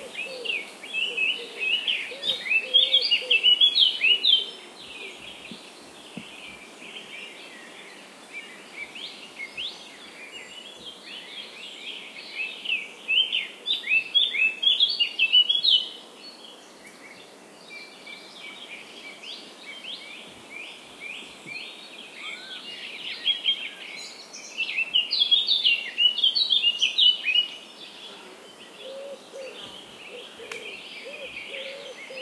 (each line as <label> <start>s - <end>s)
Morning birds 0.0s - 32.2s